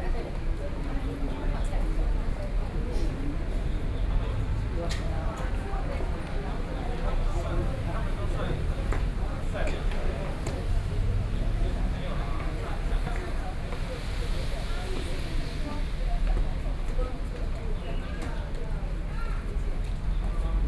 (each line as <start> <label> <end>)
0.0 crowd 20.6